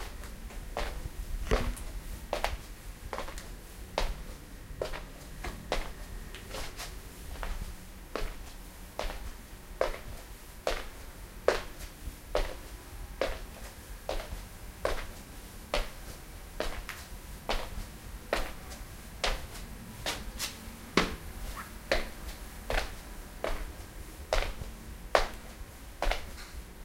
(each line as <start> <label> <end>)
0.0 walking on a hardwood floor 26.7